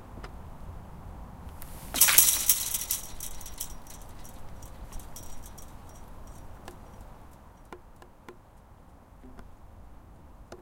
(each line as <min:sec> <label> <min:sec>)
0:01.6 Kicking the fence 0:07.0